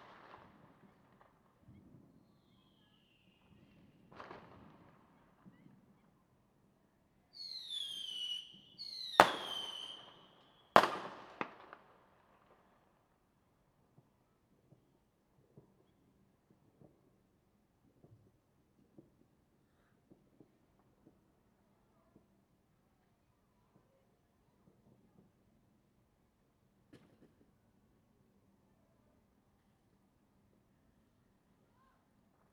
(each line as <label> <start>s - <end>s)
Firecrackers 0.0s - 6.3s
Firecrackers 7.3s - 22.4s
Firecrackers 26.9s - 27.7s